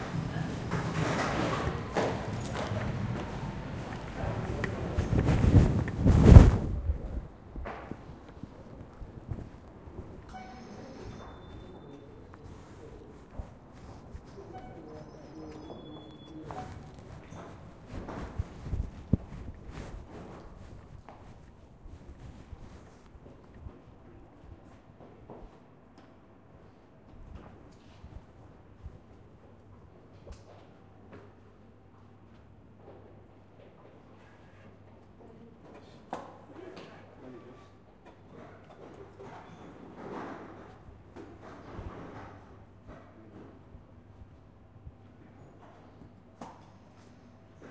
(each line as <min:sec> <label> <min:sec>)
0:00.0 subway 0:35.6
0:36.9 subway 0:47.7